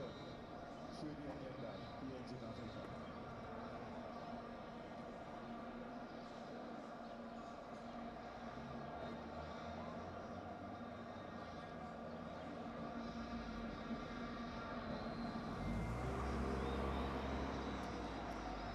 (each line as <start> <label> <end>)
0.0 people watching tv in the streets 18.7